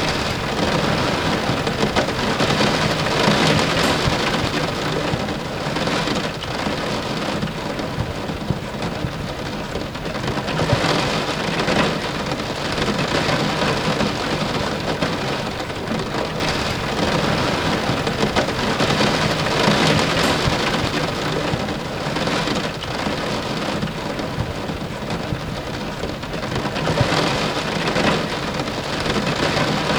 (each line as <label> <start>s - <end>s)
Light rainfall hitting a window 0.0s - 5.2s
Light rainfall hitting a window 16.4s - 21.6s